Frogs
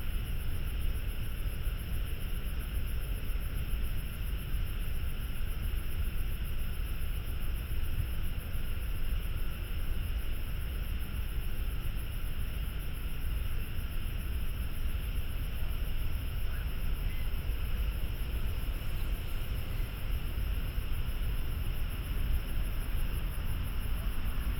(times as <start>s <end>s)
14.3s 24.5s